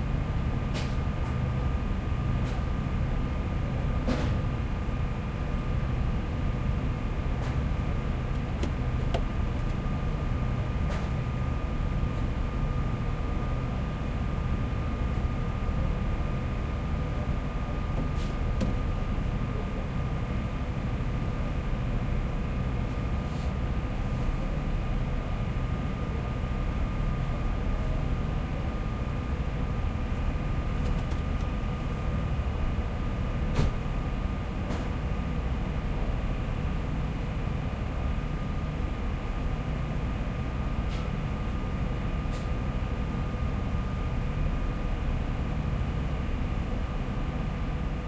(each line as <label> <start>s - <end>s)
ferry's engine 0.0s - 48.0s